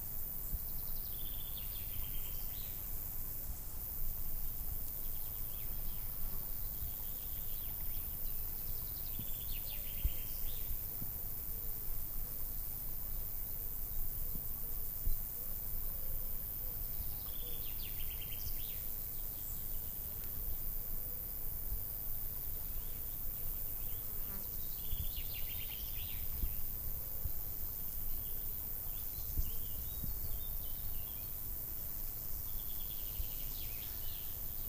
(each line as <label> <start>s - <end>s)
Crickets 0.0s - 34.6s